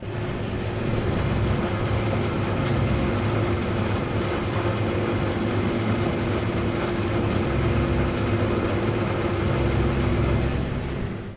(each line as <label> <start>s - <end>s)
water machine motor 0.0s - 11.3s